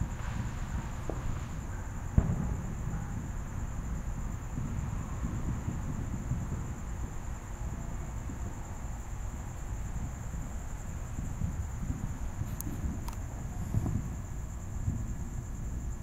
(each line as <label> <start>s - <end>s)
crickets 0.0s - 16.0s
fireworks being set off faintly in the background 0.0s - 16.0s
dogs bark at the fireworks 0.1s - 3.5s